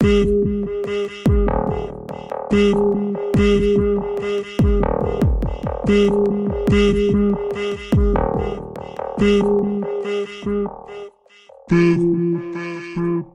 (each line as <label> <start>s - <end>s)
Drum 0.0s - 10.1s